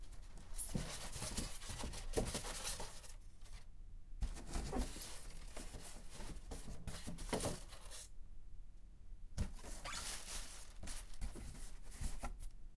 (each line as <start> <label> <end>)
9.5 Rustling styrofoam 12.5